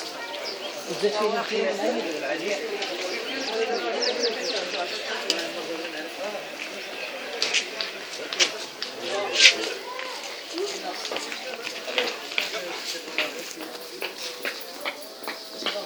afternoon prayer 0.0 - 15.8

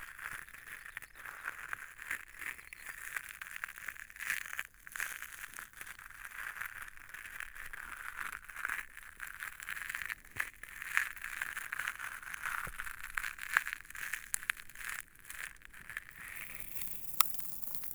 Granite gravels 16.2 - 17.9

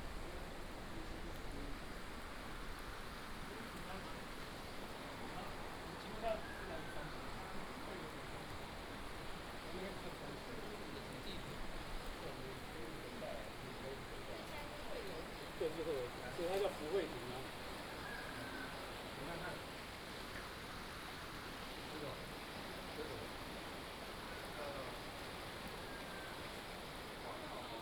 Stream sound 0.0 - 27.8

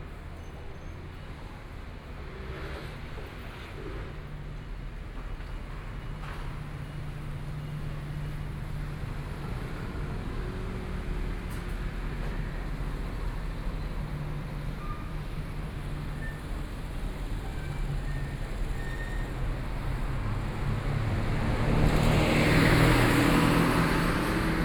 Traffic Sound 5.2 - 24.6
Construction noise 11.4 - 24.6

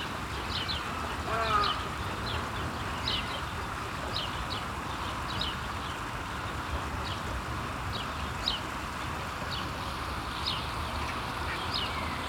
water sounds of a small fountain 0.0 - 12.2

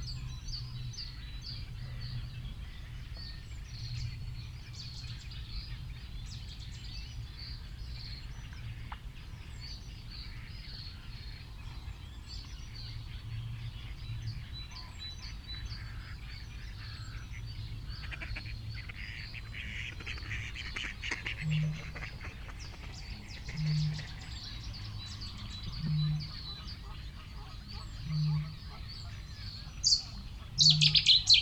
background noise 0.0 - 31.4
reed warbler 0.0 - 31.4
blackbird 9.8 - 31.4
cetti's warbler 15.1 - 31.4
reed bunting 16.8 - 31.4
cuckoo 21.0 - 31.4

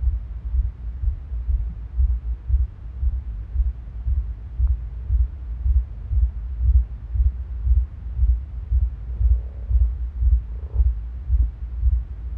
heart changes pace 0.0 - 12.3

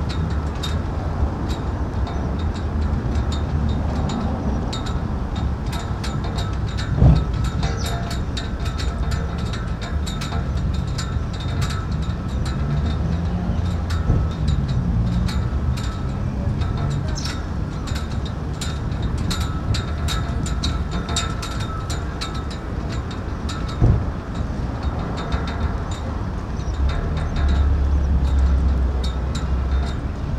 cables knocking against flagpoles 0.0 - 30.3

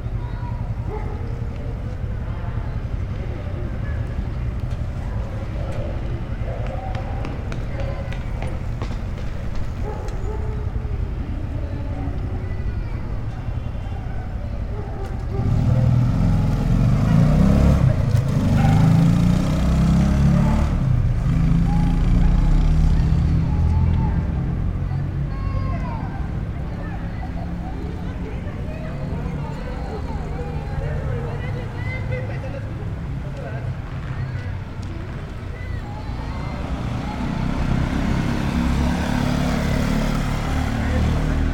Car and motorcycle engines passing 0.0 - 41.5
constant wind 0.0 - 41.5
Constant dog barking 0.8 - 2.2
Constant dog barking 5.0 - 8.1
People running 6.4 - 10.2
Constant dog barking 9.7 - 11.1
Constant dog barking 13.8 - 16.0
Constant dog barking 18.5 - 19.2

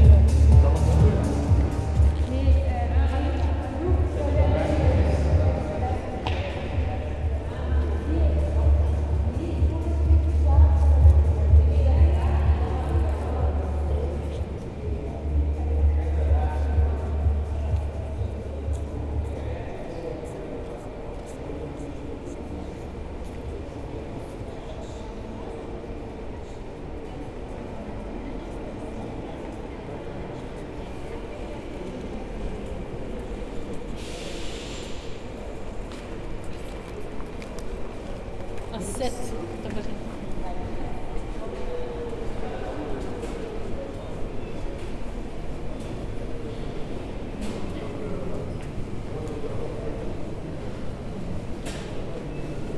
Walking in the Charleroi train station 0.0 - 52.7

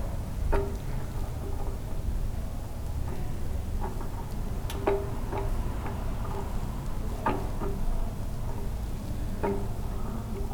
regular whine and tapping of a gas meter 0.0 - 10.5
traffic 4.4 - 8.8

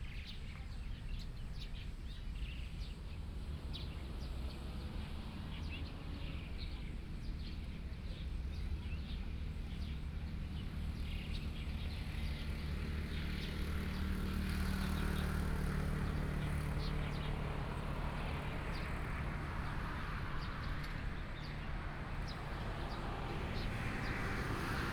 Traffic Sound 13.5 - 24.9

